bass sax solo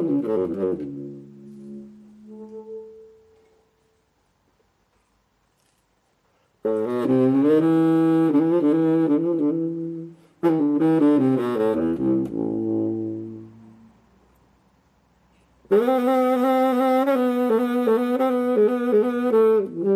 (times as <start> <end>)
0.0 3.8, 6.6 14.1, 15.6 19.9